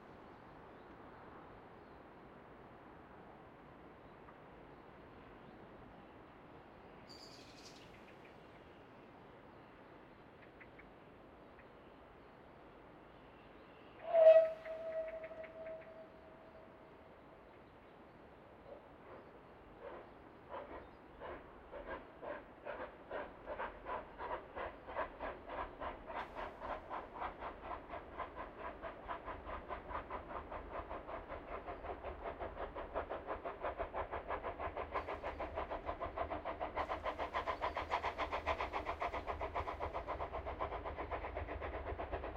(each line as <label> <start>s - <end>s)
steam train 0.0s - 42.3s
steam train whistling 14.0s - 16.3s